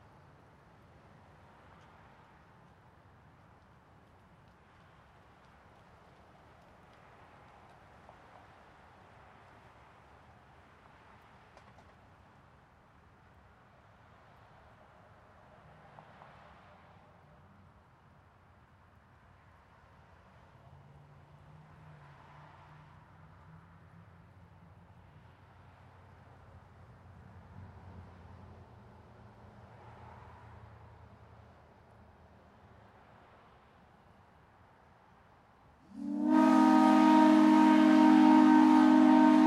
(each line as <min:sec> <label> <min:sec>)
0:35.9 steam ship whistle 0:39.4